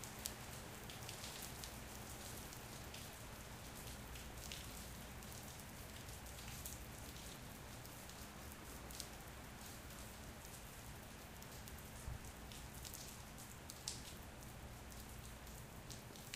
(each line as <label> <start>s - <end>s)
Rain 0.0s - 16.3s